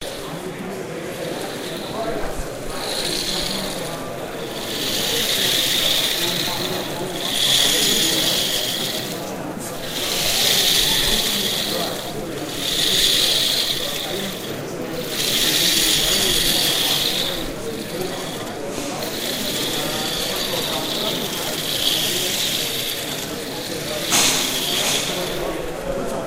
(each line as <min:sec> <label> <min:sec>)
0:00.0 robot moving and balancing on a single ball 0:26.2